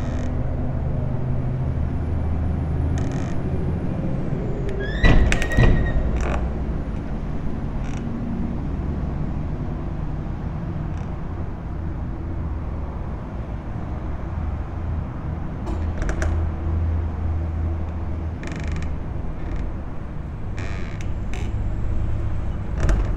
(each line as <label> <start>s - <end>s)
entrance door swaying in the wind 0.0s - 23.1s